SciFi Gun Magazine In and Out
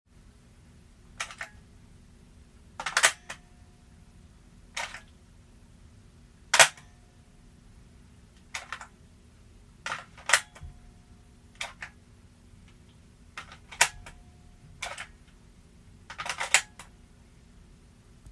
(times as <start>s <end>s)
1.2s 1.6s, 2.8s 3.4s, 4.8s 5.1s, 6.5s 6.9s, 8.4s 8.9s, 9.9s 10.7s, 11.6s 12.0s, 13.4s 14.2s, 14.8s 15.2s, 16.1s 16.9s